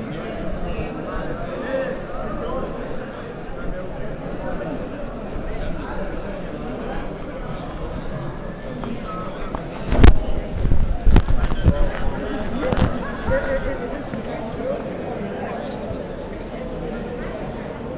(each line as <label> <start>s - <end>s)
People having nice time 0.0s - 15.2s